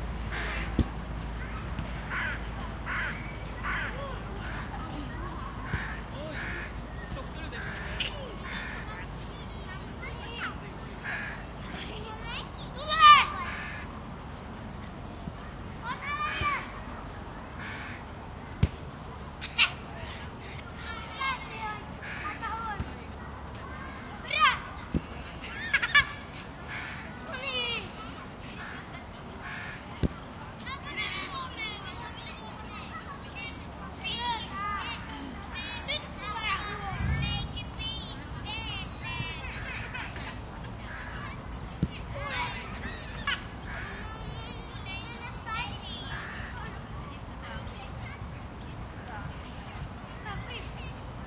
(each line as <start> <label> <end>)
0.0 Voices 51.2
0.0 wind 51.2
0.1 children are playing football 51.2
1.4 crows 4.7
5.7 crows 6.8
7.6 crows 8.9
11.0 crows 11.4
13.4 crows 13.9
17.6 crows 18.0
22.0 crows 22.4
26.7 crows 27.2
28.6 crows 29.8
36.7 loud motorcycle passes by 38.4